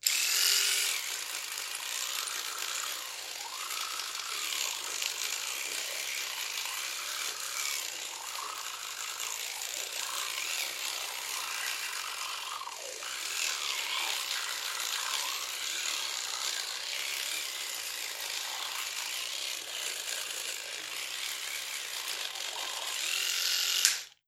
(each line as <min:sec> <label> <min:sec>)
0:00.0 electric toothbrush brushing someone's teeth 0:24.2